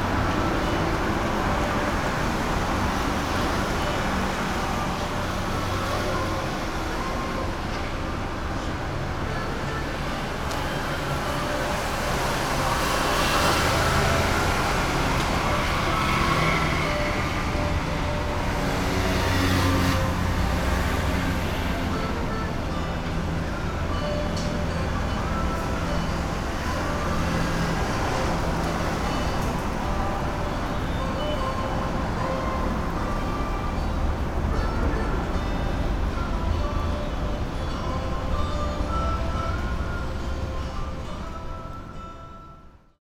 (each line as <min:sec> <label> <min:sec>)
0:00.0 Traffic Noise 0:43.0